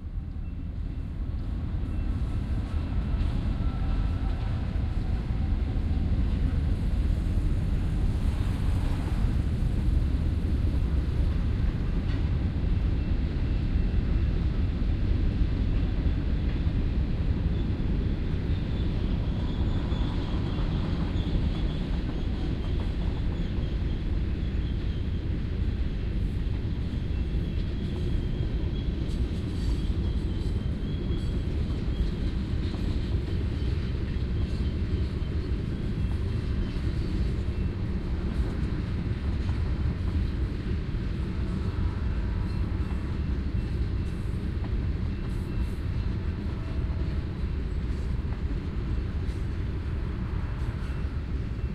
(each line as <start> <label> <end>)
17.6 Train wheels scraping against the track 51.7